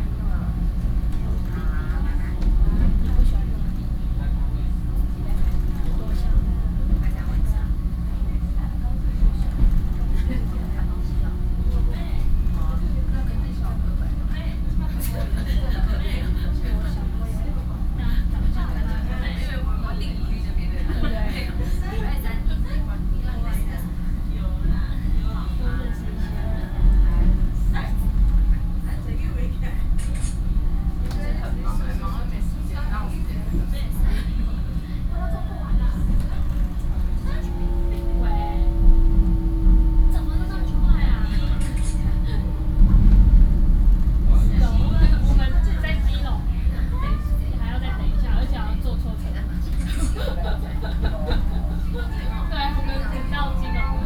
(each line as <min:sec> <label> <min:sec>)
0:00.0 train 0:54.0
0:21.5 Train message broadcasting 0:54.0